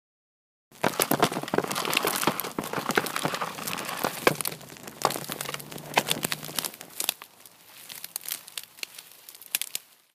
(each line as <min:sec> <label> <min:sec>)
0:00.8 bridge collapsing 0:07.2